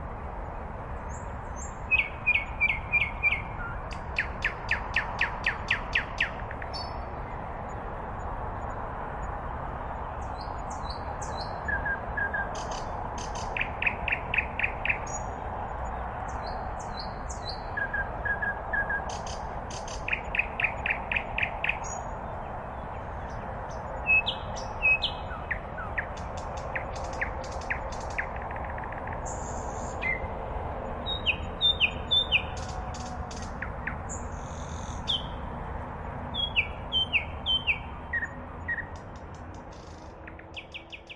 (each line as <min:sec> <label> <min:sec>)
0:00.0 Distant road hum 0:41.1
0:01.1 sweet nightingale's song 0:07.4
0:10.2 sweet nightingale's song 0:30.3
0:31.0 sweet nightingale's song 0:35.5
0:36.2 sweet nightingale's song 0:41.1